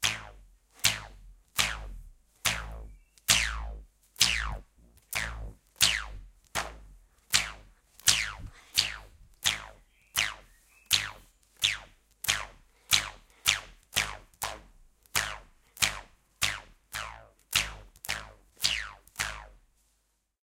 elastic booinnng 0.0 - 19.6

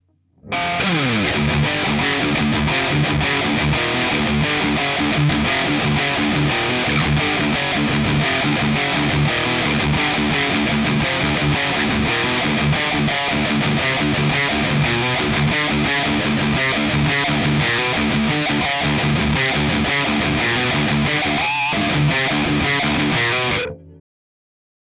riff 0.0 - 24.0

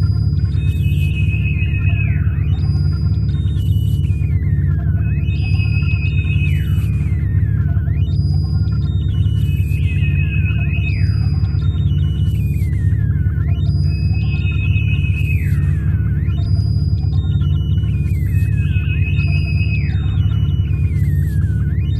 Signals 0.0 - 21.9
alarm sounds 0.0 - 21.9
space pulsating ambience 0.0 - 21.9

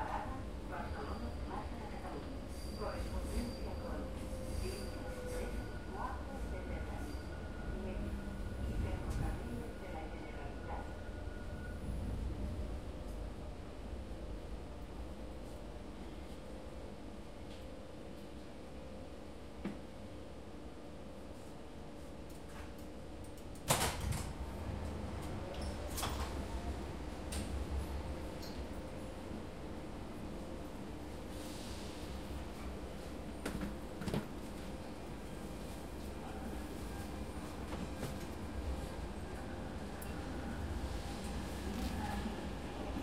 Train rides 0.0 - 16.5
Train rides 22.1 - 43.0

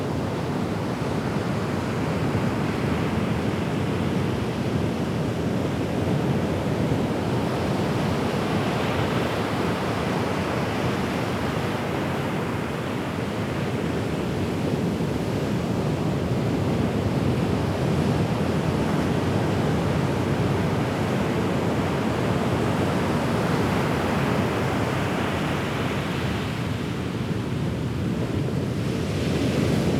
Ocean 0.0 - 29.9
wind 0.0 - 29.9

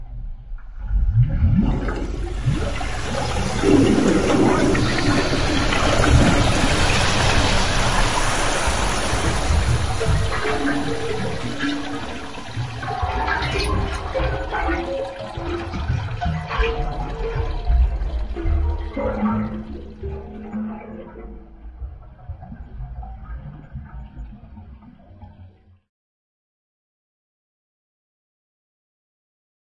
metallic water-in-tubes-sounds 0.1 - 25.7
Bubbles 0.8 - 25.4
Drains 1.4 - 21.2

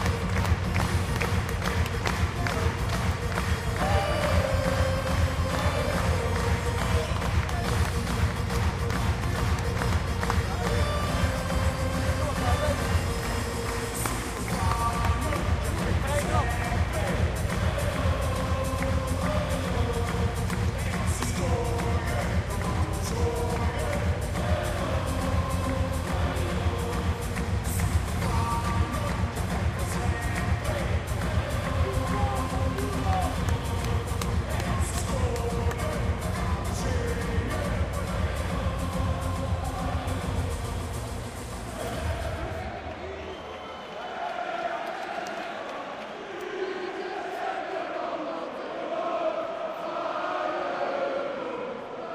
chanting 0.0 - 52.1

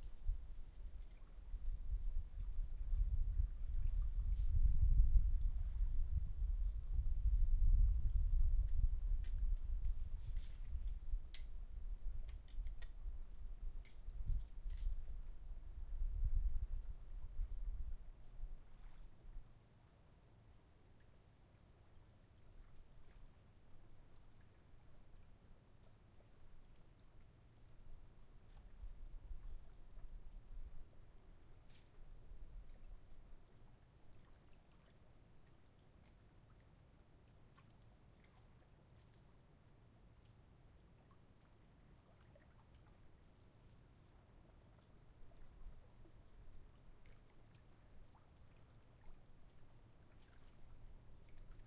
Very quiet air 0.0 - 20.8
water 0.0 - 51.6

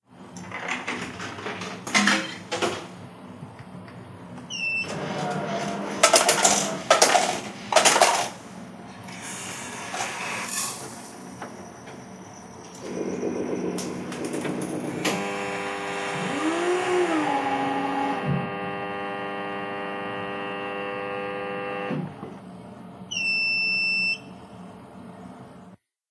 coffee machine 4.5 - 8.4
coffee machine 12.7 - 22.4

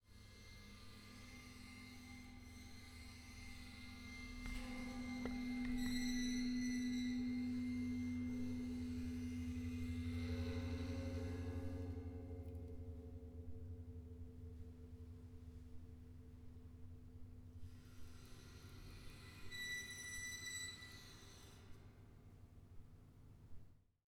Bowing metal stairs with cello bow 1.2 - 14.6

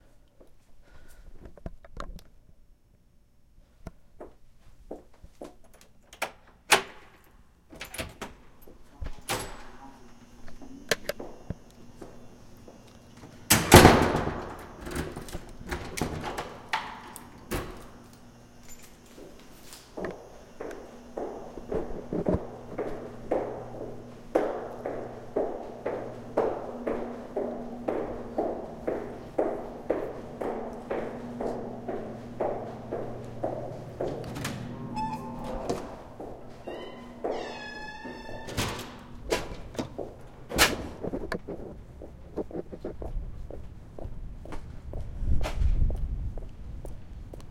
doors 5.4 - 42.8
walking in heels 18.0 - 38.4
walking in heels 39.2 - 47.5

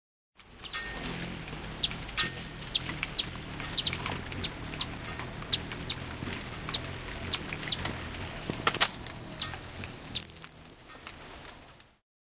Hummingbirds buzzing near a feeder 0.4 - 11.5

